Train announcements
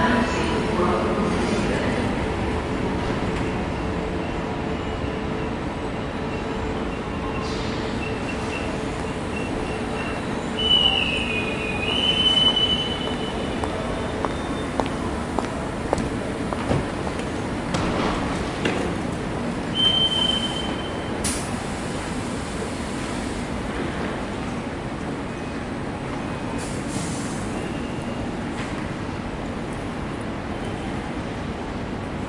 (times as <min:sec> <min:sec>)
0:00.0 0:07.3, 0:08.2 0:16.5